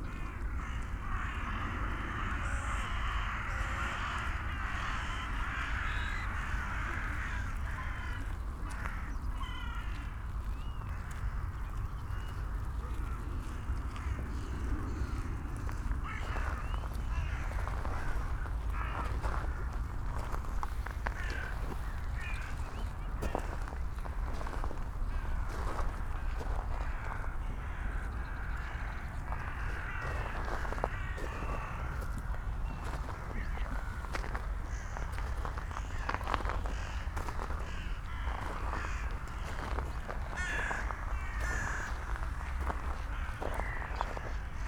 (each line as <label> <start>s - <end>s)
hundreds of dun crows 0.0s - 44.6s